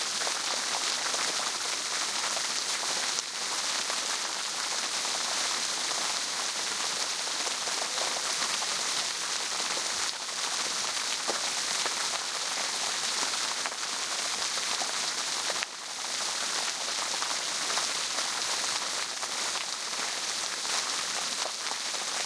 Fountain 0.0 - 22.2

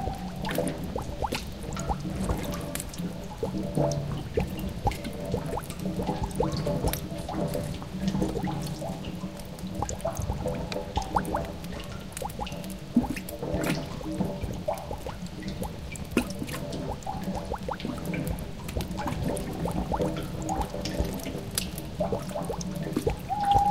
owl 23.3 - 23.7

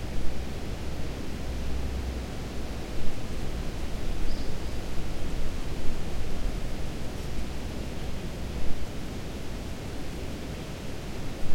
river 0.0 - 11.5
wind 0.0 - 11.5
insects 3.8 - 5.1

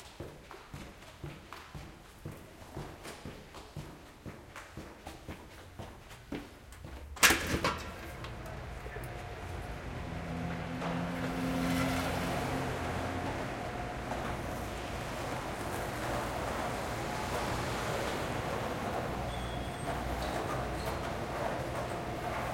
stairs 0.0 - 22.5
walking to the subway 0.0 - 22.5
l train 6.4 - 22.5
lock 7.2 - 8.4
door 7.2 - 8.4

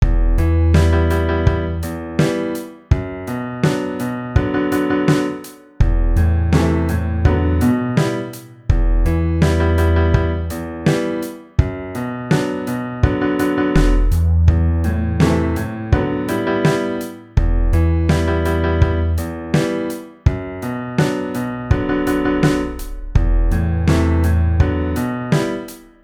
Drum 0.0 - 26.0
Piano 0.0 - 26.0

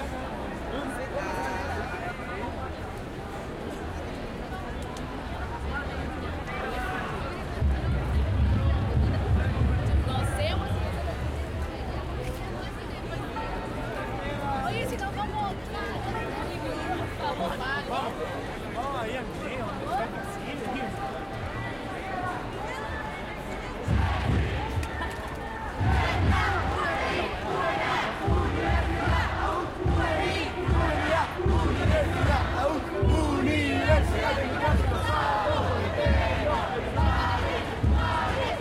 Cánticos de estudiantes 0.0 - 38.6
crowd 0.0 - 38.6

